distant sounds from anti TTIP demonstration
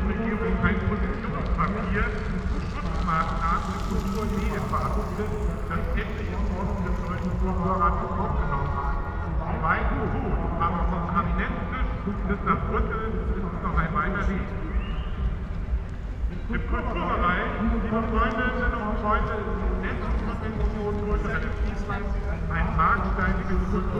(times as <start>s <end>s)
0.3s 10.0s